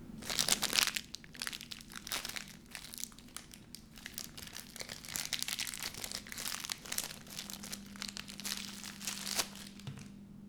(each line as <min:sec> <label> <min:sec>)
0:00.2 Opening a USB cable wrapped in plastic 0:10.1